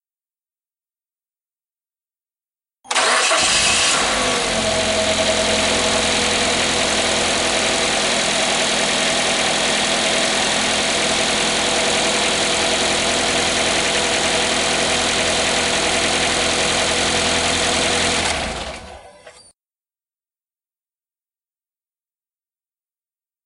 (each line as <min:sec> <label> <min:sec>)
0:02.9 car 0:19.1